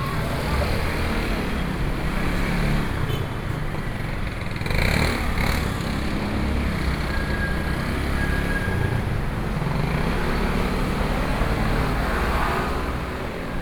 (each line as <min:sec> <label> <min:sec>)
0:00.0 Checkout 0:02.5